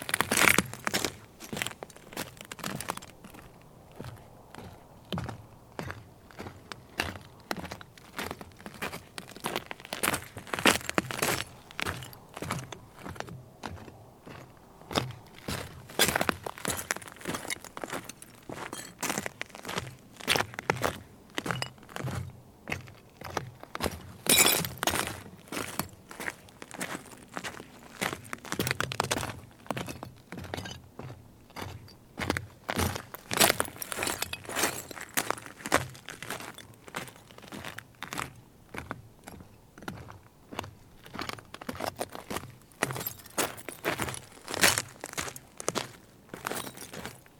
Walking on dry salt flat 0.0 - 47.3

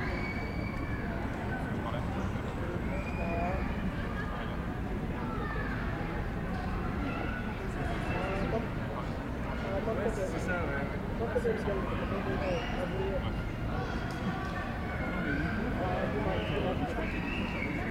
beaucoup de monde 0.0 - 17.9

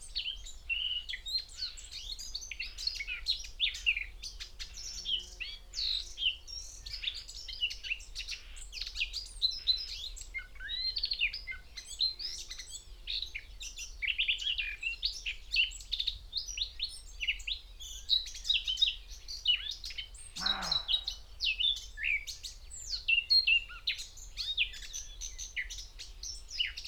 roe deer 20.3 - 21.3
crow 20.4 - 21.2
skylark 20.4 - 21.3
whitethroat 20.4 - 21.1
blackcap 20.4 - 21.2
great tit 20.4 - 21.2

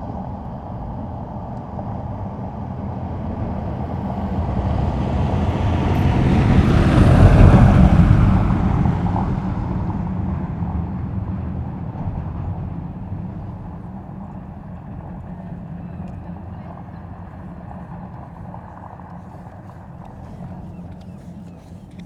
vehicles on a cobbled road 0.0 - 22.0
joggers passing by 12.1 - 22.0
occasional voices 12.4 - 22.0
peregrine falcon 13.3 - 22.0
bird calls from herring gulls 13.7 - 22.0

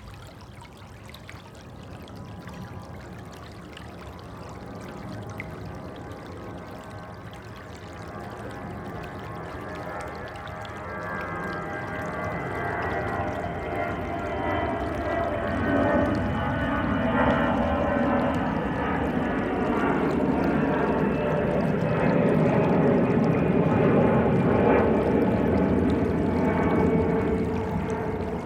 Water sounds 0.0 - 28.4
aircraft passing by 0.9 - 28.4

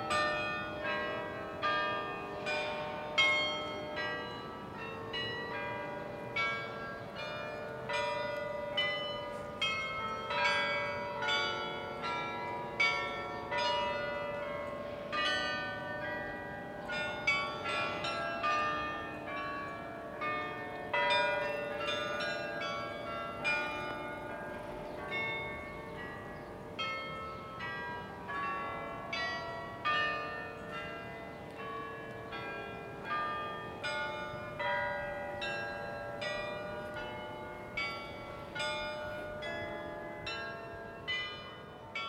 church bells carillon playing a tune 0.0 - 42.0

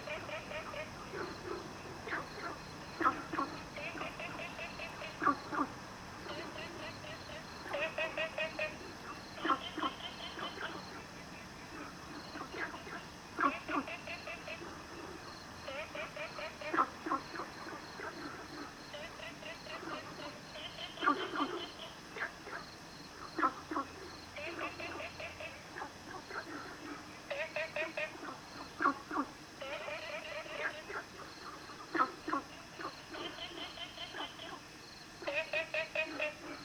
Frogs sound 0.0 - 36.6

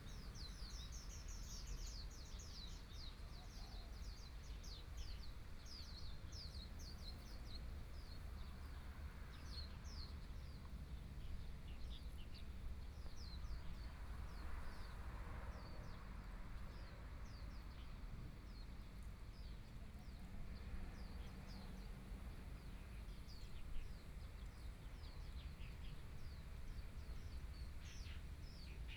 Birdsong sound 0.0 - 16.0
Birdsong sound 22.6 - 28.9

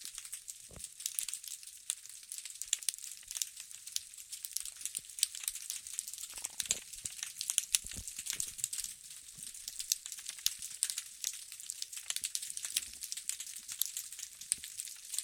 Snapping Shrimps 0.1 - 15.2

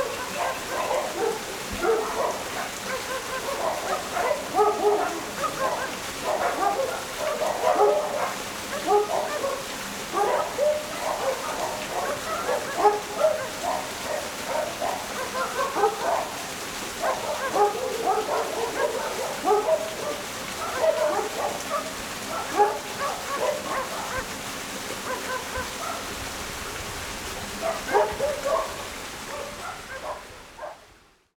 Dogs barking 0.0 - 30.9
water streams 0.0 - 31.3

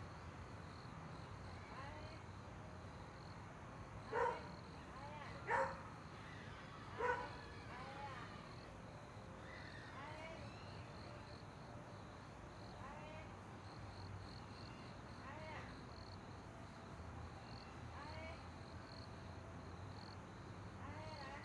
Dogs barking 4.1 - 4.5
Dogs barking 5.5 - 5.8
Dogs barking 7.0 - 7.4

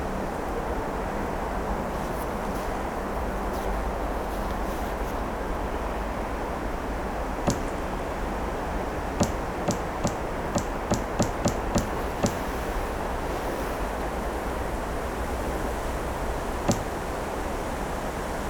rubbing of branches 3.5 - 5.4
patting of the trunk 7.5 - 8.0
vibrations of the tree 7.5 - 14.4
patting of the trunk 9.2 - 13.7
rubbing of branches 9.2 - 14.7
vibrations of the tree 15.8 - 17.7
patting of the trunk 16.7 - 17.2

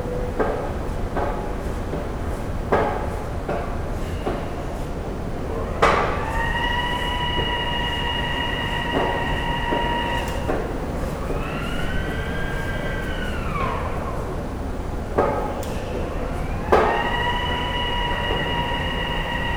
train announcements 5.1 - 19.5
heavy, glass sliding doors 5.2 - 19.5

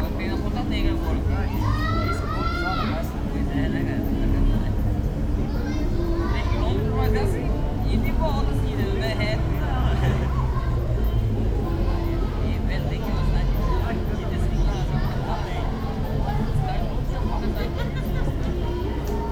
distant cars 0.0 - 19.3
playing children 0.0 - 19.3
various distant musics 0.0 - 19.3
people walking, speaking, shouting 0.8 - 3.5

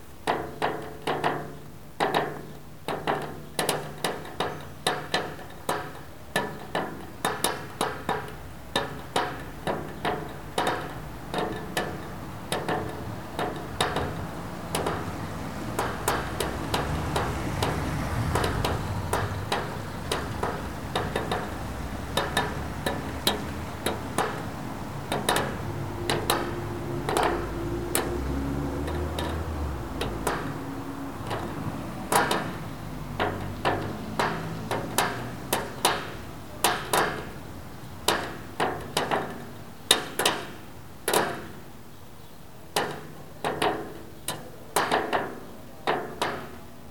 traffic background 0.0 - 46.9

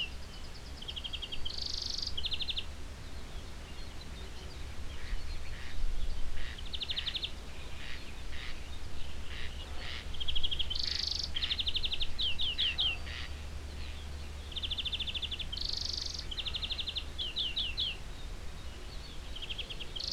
cicades 0.0 - 5.7
morning birds 0.0 - 20.1
in the distance a dog 9.4 - 10.2
in the distance a dog 12.6 - 13.3

